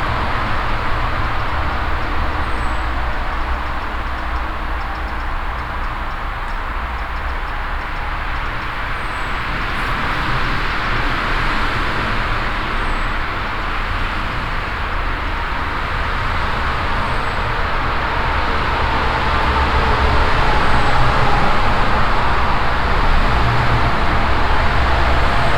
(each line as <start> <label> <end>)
0.0 constant traffic passing by and resonating inside the tube 25.5
1.4 high constant chirp of a eager bird 11.2
8.1 bicycle entering the tunnel and passing by 25.5